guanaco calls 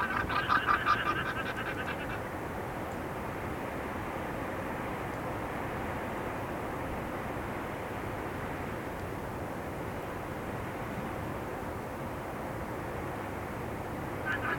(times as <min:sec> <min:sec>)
0:00.0 0:02.3, 0:14.2 0:14.5